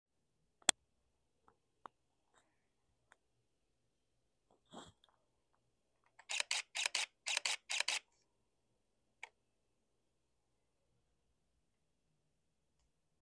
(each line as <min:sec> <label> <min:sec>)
0:06.2 camera takes multiple camera shots 0:08.1